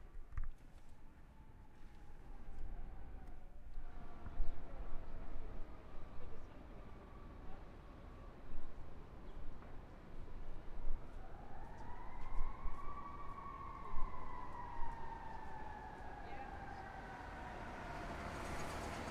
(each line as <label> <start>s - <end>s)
traffic 0.0s - 19.1s
fire truck 1.1s - 19.1s
siren 1.2s - 9.0s
siren 10.2s - 19.1s